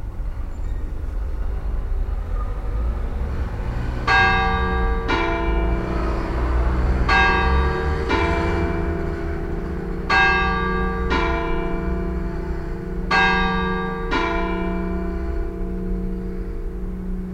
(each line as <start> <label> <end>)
4.1 bells ringing ten 17.3